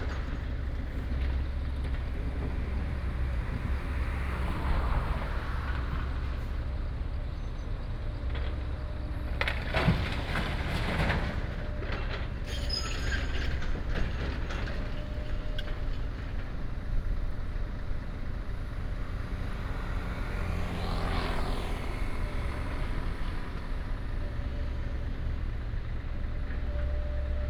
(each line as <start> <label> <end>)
0.0 traffic sound 27.4
8.2 Demolition of old house 16.9